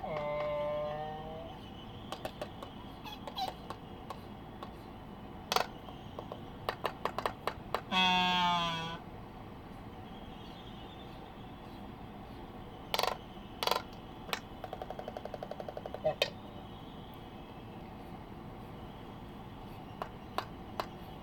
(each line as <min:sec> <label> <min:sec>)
0:00.0 voices 0:04.8